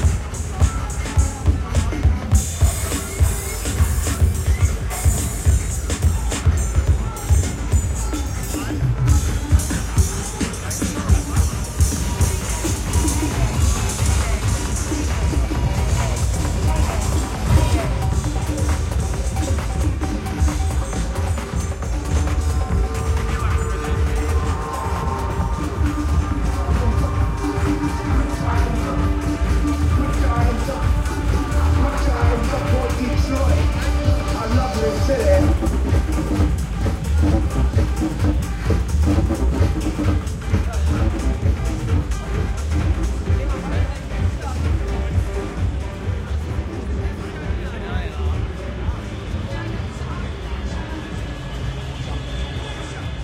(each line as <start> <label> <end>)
0.0 crowd 53.2
0.0 music 53.2